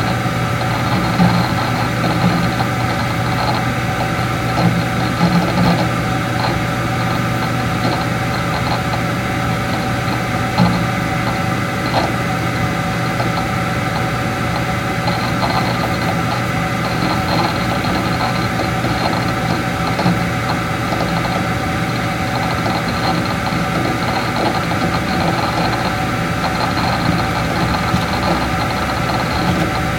0.0s computer harddisk 29.9s
0.0s noises from computer fan 29.9s

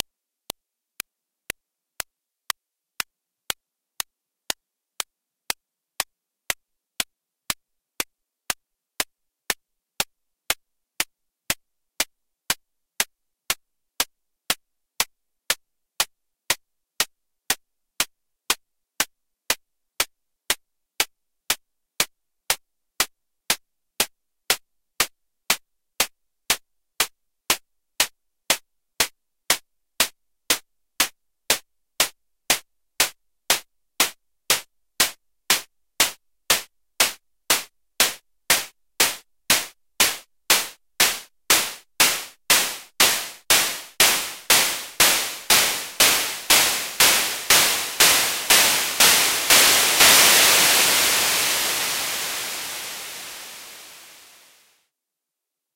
42.0s analog hi hat 54.4s

